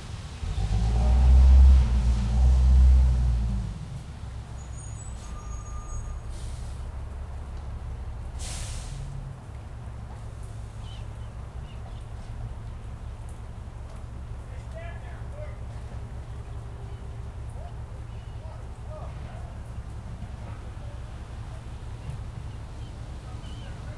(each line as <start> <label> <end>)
0.0 truck 23.9